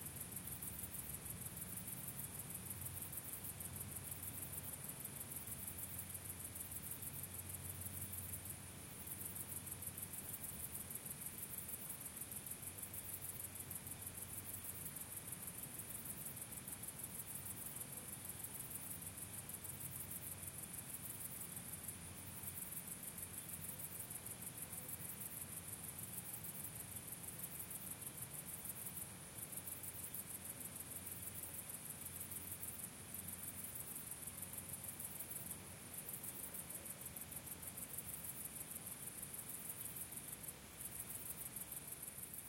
crickets 0:00.0 - 0:42.4

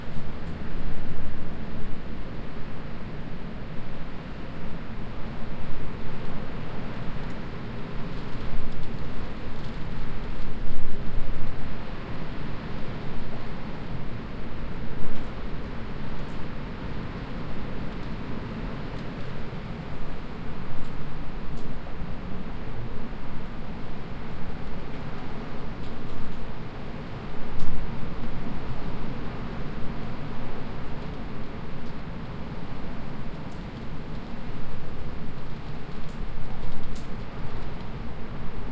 wind 0:00.0 - 0:38.7

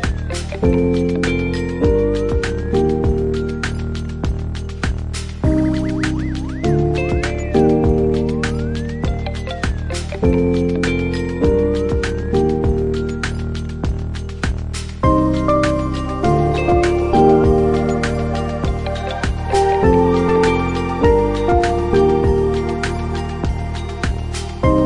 lo-fi piano 0:00.0 - 0:24.8
synth 0:00.0 - 0:24.8

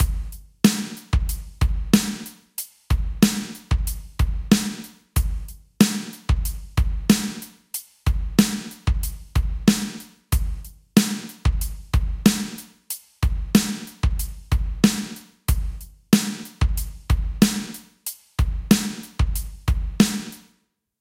snare 0:00.7 - 0:01.2
snare 0:02.0 - 0:03.7
snare 0:04.5 - 0:05.0
snare 0:05.8 - 0:06.3
snare 0:07.1 - 0:08.8
snare 0:09.7 - 0:10.2
snare 0:11.0 - 0:11.4
snare 0:12.3 - 0:14.0
snare 0:14.8 - 0:15.4
snare 0:16.2 - 0:16.7
snare 0:17.4 - 0:19.2
snare 0:20.0 - 0:20.6

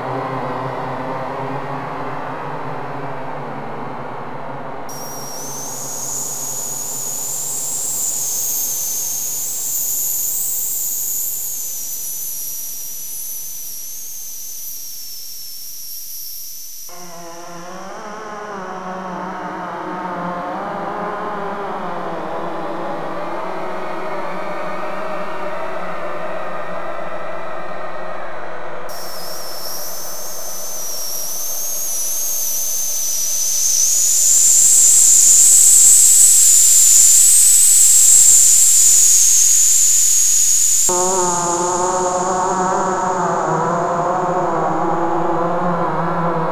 ambient space drone 0:00.0 - 0:46.5

